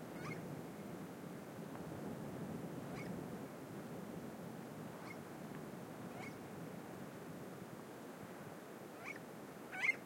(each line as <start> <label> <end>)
0.0 windy 10.0